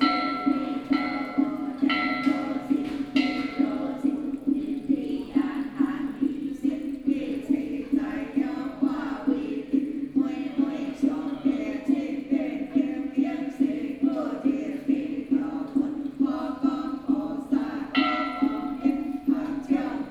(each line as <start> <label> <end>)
0.0 Chanting 20.1